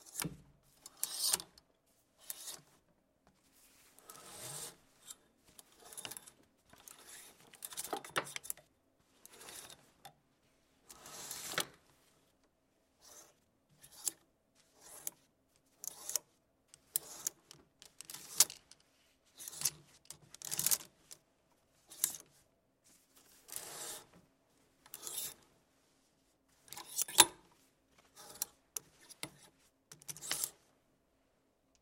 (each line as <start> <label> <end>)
0.0 Cloths hangers sliding 1.6
4.0 Cloths hangers sliding 8.2
9.2 Cloths hangers sliding 10.0
10.9 Cloths hangers sliding 11.8
15.8 Cloths hangers sliding 18.6
23.4 Cloths hangers sliding 24.2
24.9 Cloths hangers sliding 25.5
26.6 Cloths hangers sliding 30.6